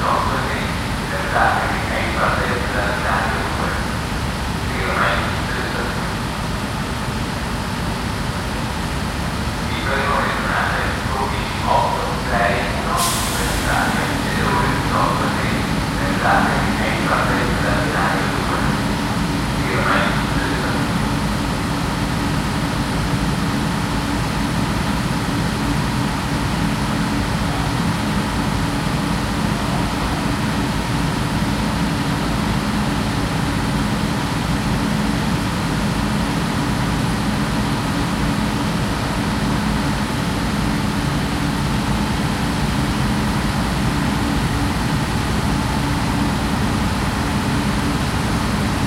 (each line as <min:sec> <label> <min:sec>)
0:00.0 Stationary train at dock 0:48.8